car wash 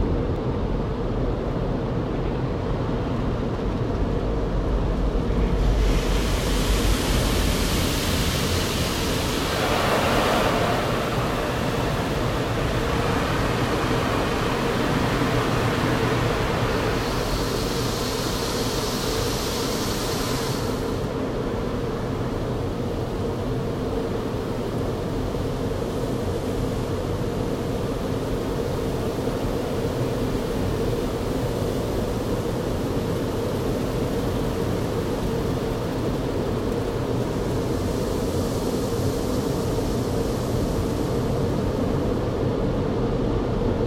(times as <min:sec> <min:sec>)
0:05.5 0:21.8